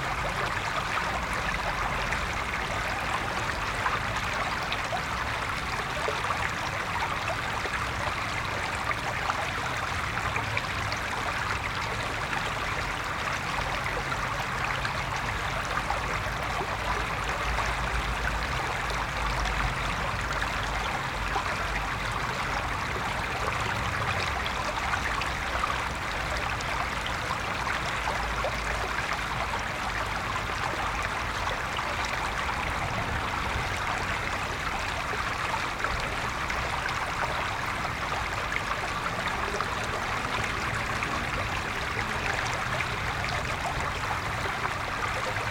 Water flow 0.0 - 45.5

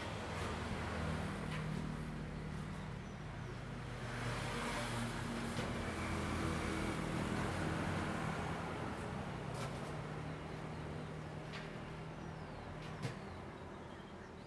bird singing in a birdcage 2.1 - 3.8
bird singing in a birdcage 9.9 - 14.4

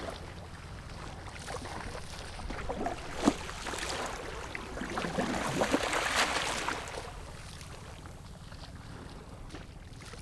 Waves and tides 0.0 - 8.1

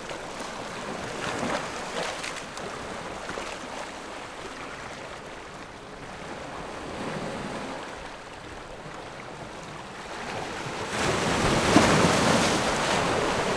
waves 0.0 - 13.5

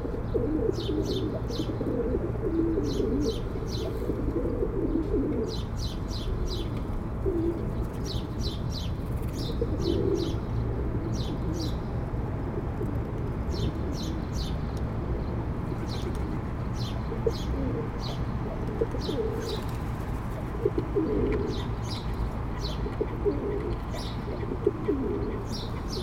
pigeons flirting 19.0 - 21.4

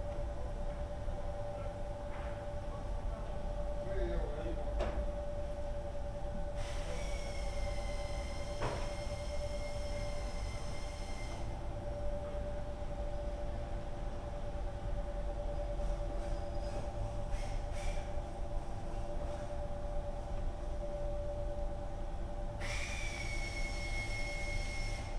machines 0.0 - 25.1

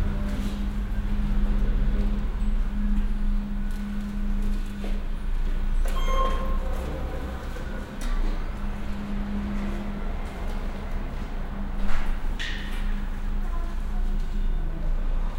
Gondola arriving 0.0 - 15.3
passengers entering the hall 0.0 - 15.3

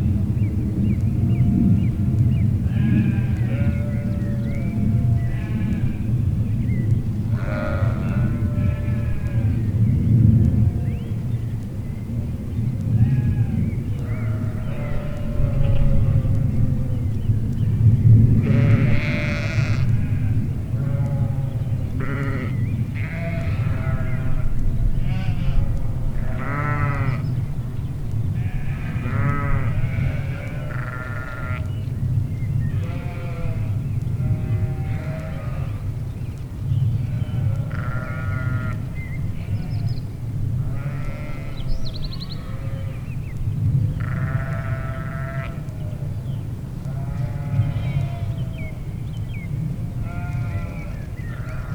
grazing sheeps 28.4 - 31.7
grazing sheeps 40.7 - 41.6
grazing sheeps 44.0 - 45.8
grazing sheeps 50.0 - 51.7

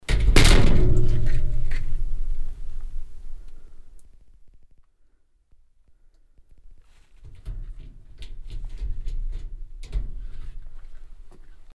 closing the metal exit door of the mine 0.0 - 4.0
closing the metal exit door of the mine 7.2 - 11.7

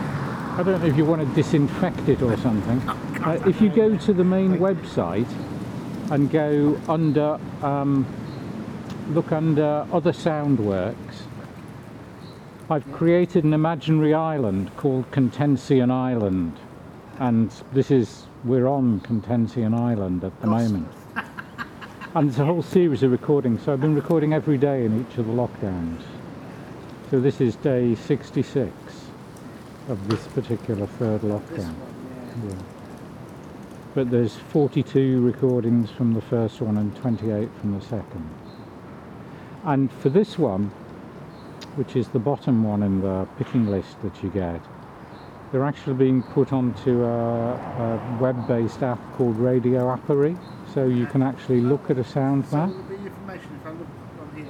man with two dogs 0.0 - 7.3
man with two dogs 18.5 - 38.4
man with two dogs 45.5 - 54.4

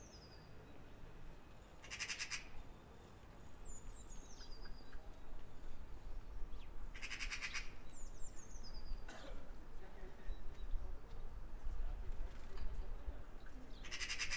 birds sing even louder 0.0 - 0.8
birds sing even louder 1.7 - 2.7
Magpies building a nest 1.8 - 2.6
birds sing even louder 3.4 - 5.2
birds sing even louder 6.2 - 9.1
birds sing even louder 13.4 - 14.3

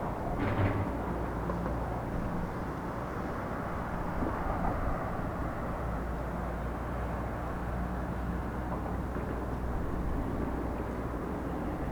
boat passing by on the oder river 0.0 - 11.9

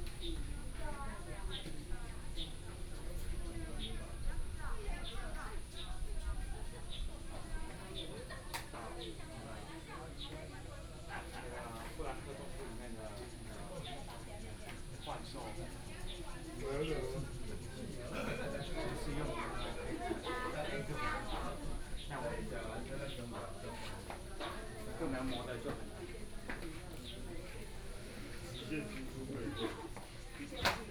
Tourists 0.0 - 30.9

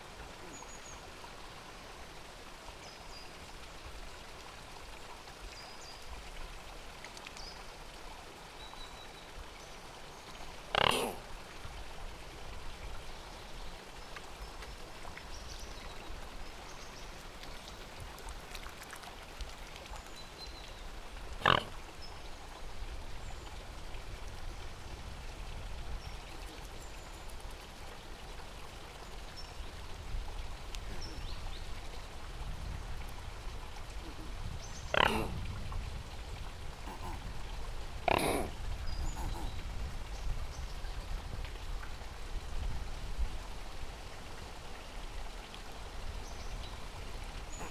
two white swans snorting and grunting 10.6 - 11.3
splashing about a bit 13.8 - 23.1
two white swans snorting and grunting 21.3 - 21.9
two white swans snorting and grunting 30.8 - 31.3
two white swans snorting and grunting 33.9 - 35.4
two white swans snorting and grunting 36.8 - 39.7
splashing about a bit 46.8 - 47.7
two white swans snorting and grunting 47.5 - 47.7

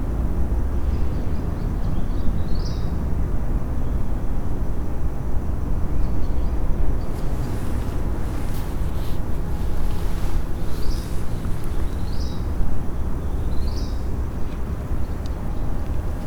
urban noises 6.8 - 16.2
birds 7.0 - 14.1

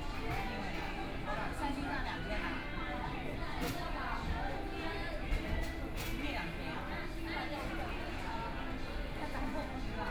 crowd 0.0 - 10.1

